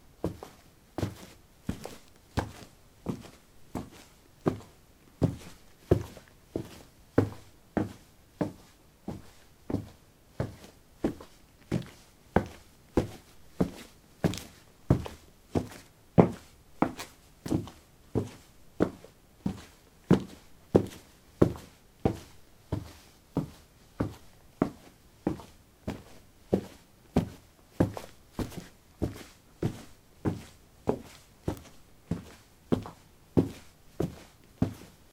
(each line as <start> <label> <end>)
0.2 Walking on concrete 35.1